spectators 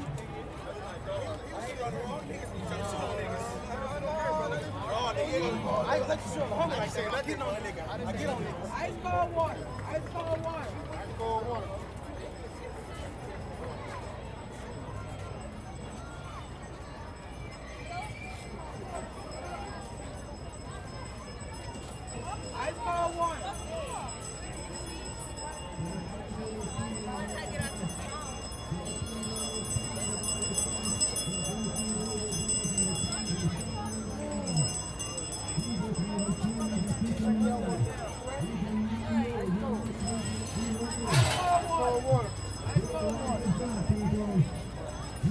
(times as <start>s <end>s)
21.4s 45.3s